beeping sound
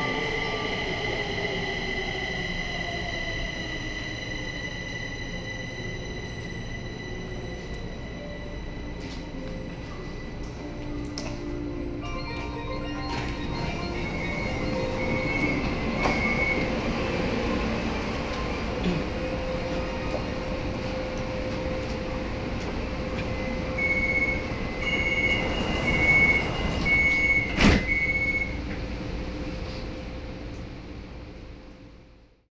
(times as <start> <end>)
12.0 17.0